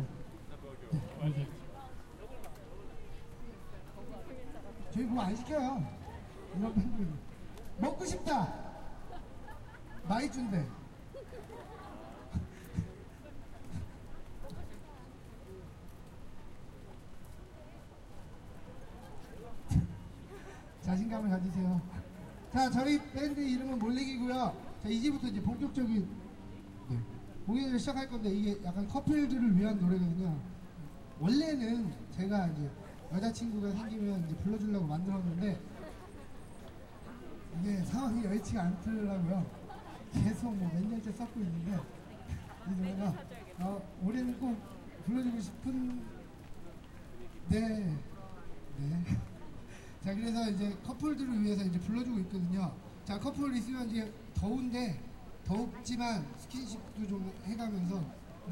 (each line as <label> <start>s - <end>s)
Street music 0.0s - 58.5s